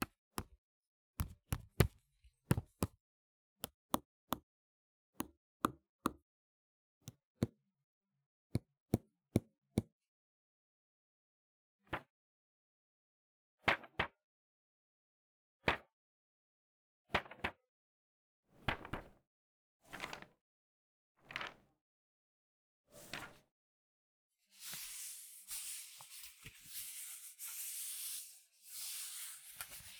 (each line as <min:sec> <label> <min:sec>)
0:01.2 Tapping and handling paper 0:03.0
0:24.6 Tapping and handling paper 0:29.9